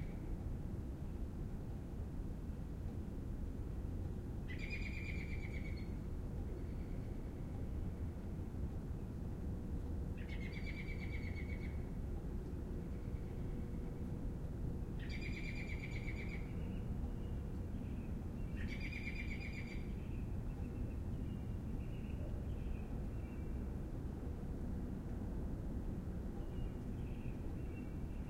bird 0:04.5 - 0:07.2
city rumble 0:05.8 - 0:28.2
bird 0:15.0 - 0:23.6

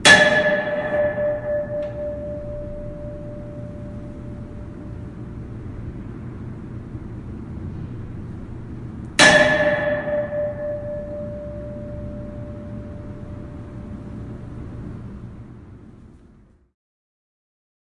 Hitting a metal pole with a small metal gate 0:00.0 - 0:04.3
Hitting a metal pole with a small metal gate 0:09.2 - 0:13.4

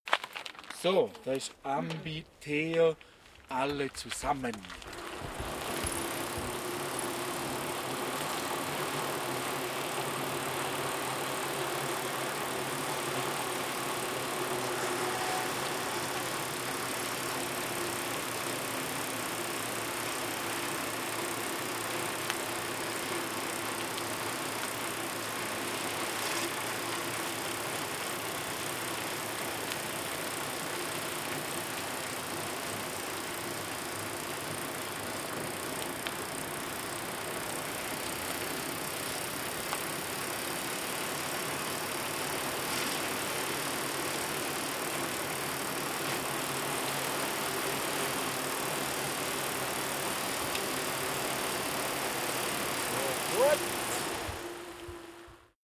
4 bikes downhilling a road 0:00.1 - 0:55.5

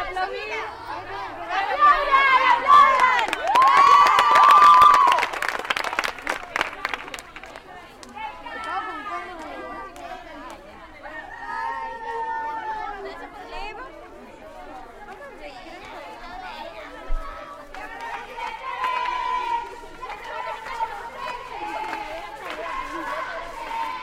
applause 0:02.8 - 0:08.8
applause 0:17.7 - 0:24.0

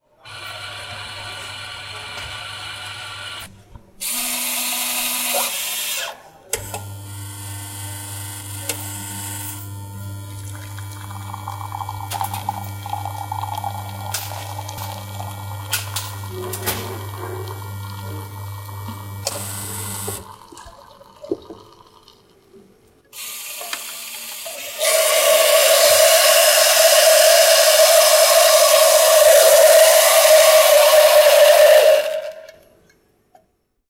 producing coffee with milkfoam 0:00.2 - 0:32.6
coffeemachine grinding beans 0:00.3 - 0:03.5
coffeemachine grinding beans 0:06.7 - 0:22.0
coffeemachine grinding beans 0:23.2 - 0:32.6

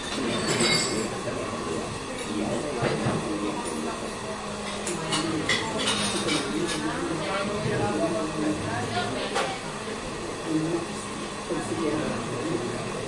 plates 0:00.0 - 0:01.2
people talking 0:00.2 - 0:13.0
plates 0:04.6 - 0:06.9

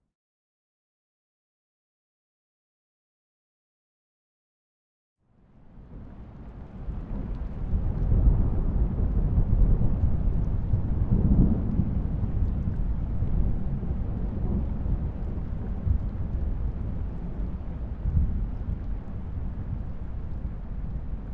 distant thunder 0:07.1 - 0:21.3

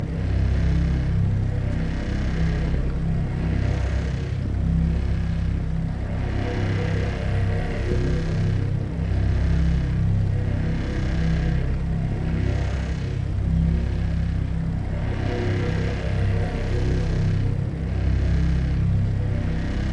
generator of a large vertical wind turbine 0:00.0 - 0:19.9

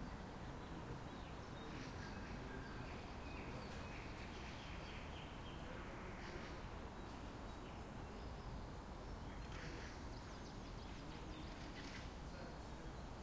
birds 0:00.0 - 0:13.2
wind 0:00.0 - 0:13.2

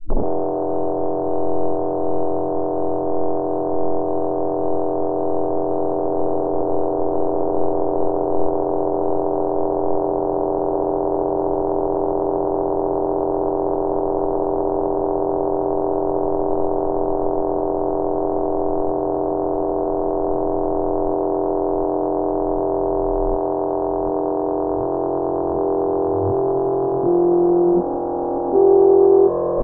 Reverse comb filter sweep on guitar 0:00.2 - 0:29.6

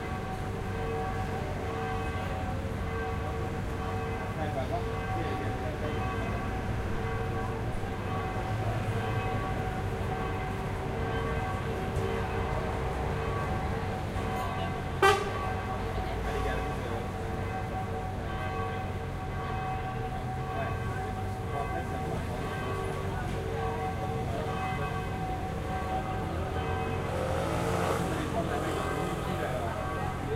bells 0:00.0 - 0:30.3

